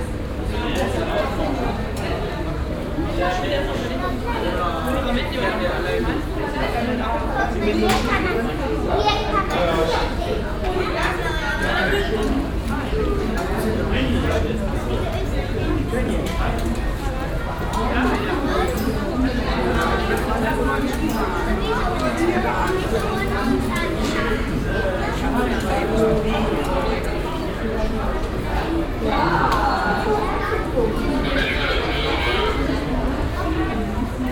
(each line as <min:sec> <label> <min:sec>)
0:30.3 klicken der ticketmaschinen 0:33.8